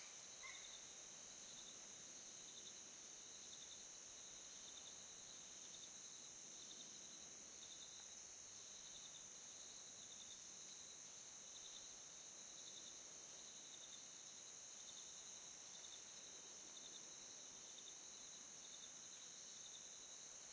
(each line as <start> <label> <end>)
0.0 crickets 20.5